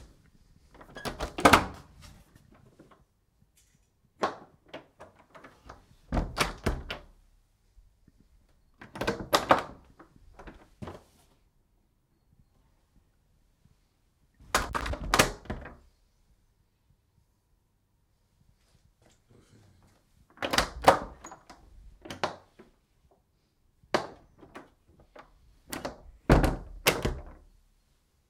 wooden door opened and closed several times 0.7 - 3.1
wooden door opened and closed several times 4.1 - 7.2
wooden door opened and closed several times 8.5 - 11.1
wooden door opened and closed several times 14.4 - 16.0
wooden door opened and closed several times 20.2 - 22.8
wooden door opened and closed several times 23.9 - 27.6

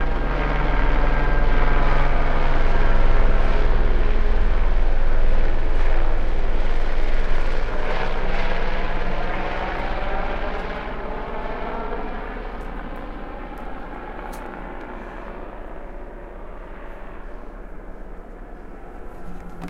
police helicopter circling right above 0.0 - 19.6

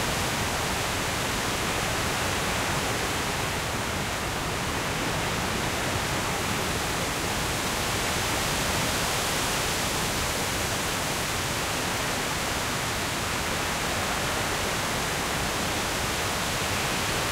strong wind blowing through a deciduous woodland 0.0 - 17.3

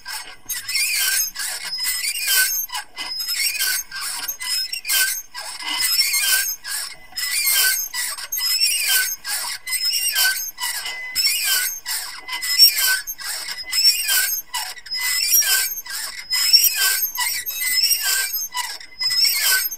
medium speed squeaking 0.1 - 19.7

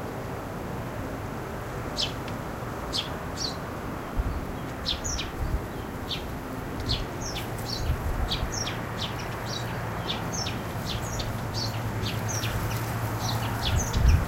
distant cars 0.0 - 14.2
wind 0.0 - 14.2
plane overfly 0.9 - 14.2
single bird is singing 2.9 - 3.6
single bird is singing 4.3 - 14.2
bamboo bush weaves in the air 6.3 - 14.2

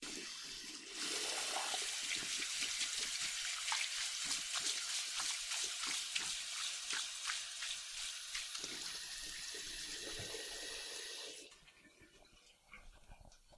face wash 0.8 - 11.4

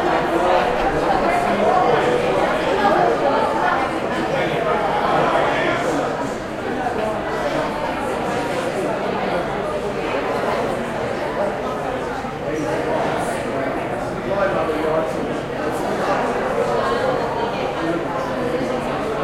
crowd 0.0 - 19.2

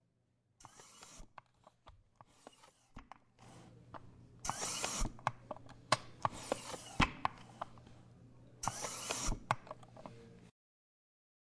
CHAIR HISS 4.4 - 5.1
CHAIR HISS 8.6 - 9.4

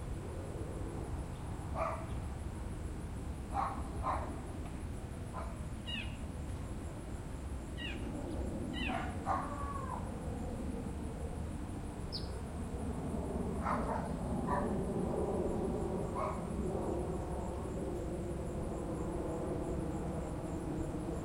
crickets 0.0 - 21.2
birds 5.3 - 6.7
owls 5.4 - 6.2
birds 7.7 - 10.1
owls 7.8 - 8.1
owls 8.7 - 10.1
birds 12.1 - 12.4

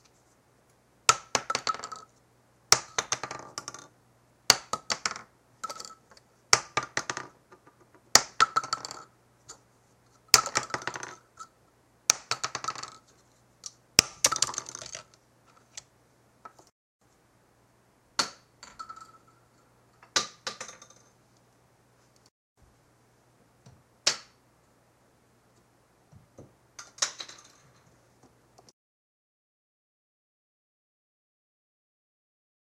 used shotgun shells falling onto a hard surface 1.1 - 2.1
used shotgun shells falling onto a hard surface 2.7 - 3.9
used shotgun shells falling onto a hard surface 4.5 - 9.1
used shotgun shells falling onto a hard surface 10.3 - 11.2
used shotgun shells falling onto a hard surface 12.1 - 15.8
used shotgun shells falling onto a hard surface 20.0 - 21.1
used shotgun shells falling onto a hard surface 26.8 - 27.8

